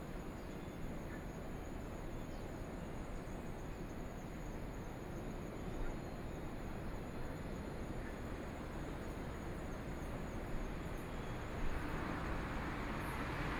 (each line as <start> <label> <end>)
11.0 Traffic Sound 13.5